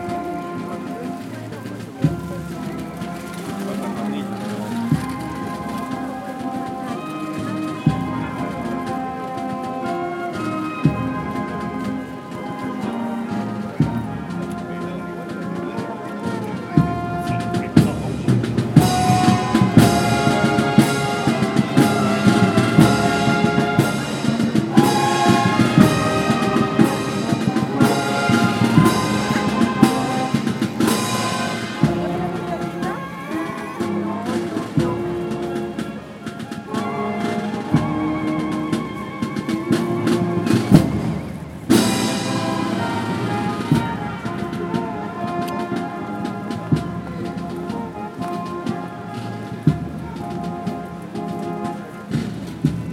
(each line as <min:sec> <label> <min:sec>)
0:00.0 band improvises 0:52.9
0:00.0 local public and tourists 0:52.9